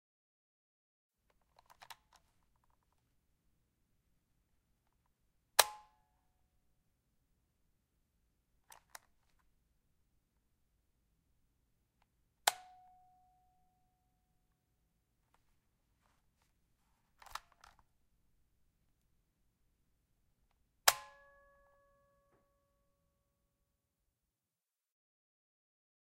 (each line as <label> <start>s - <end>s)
Cassette Tape Button 12.5s - 13.0s
Cassette Tape Button 17.2s - 17.8s